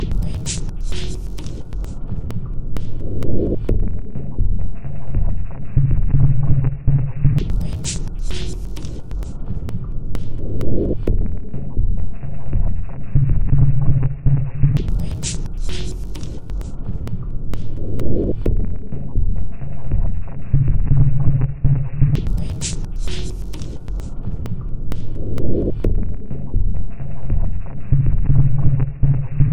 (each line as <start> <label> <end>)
0.0 Drum Loop 5.4
7.3 Drum Loop 12.8
14.8 Drum Loop 20.2
22.1 Drum Loop 26.8